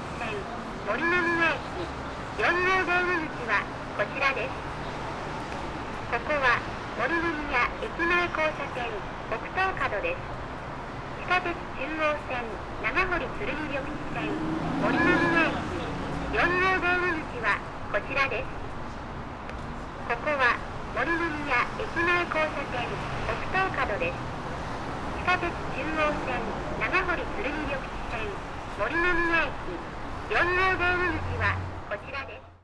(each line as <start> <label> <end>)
0.0 speaker announcement 10.4
11.0 speaker announcement 18.9
19.9 speaker announcement 32.6